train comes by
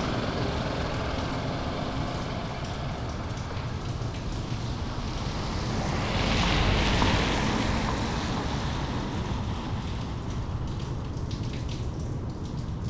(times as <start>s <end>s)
0.0s 9.8s